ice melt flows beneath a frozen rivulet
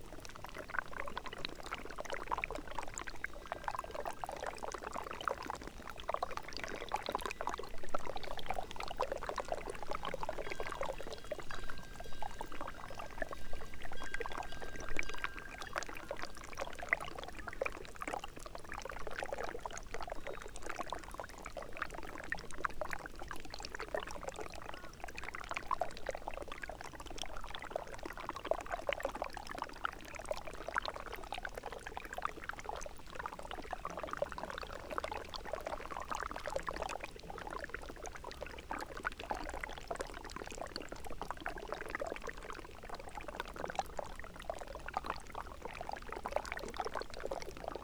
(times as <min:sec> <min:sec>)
0:00.0 0:20.9